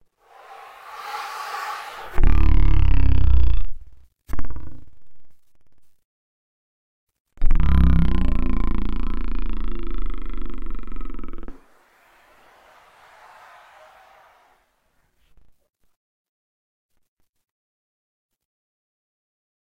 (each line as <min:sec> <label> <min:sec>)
0:00.2 vocal 0:03.2